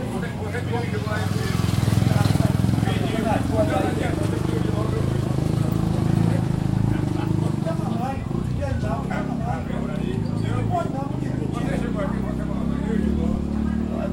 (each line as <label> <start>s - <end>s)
Men talk 0.0s - 14.1s
motorcycle 0.0s - 14.1s
laugh 6.7s - 7.6s